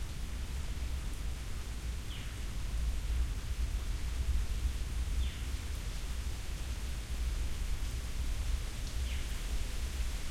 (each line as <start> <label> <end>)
0.0 Rain 10.3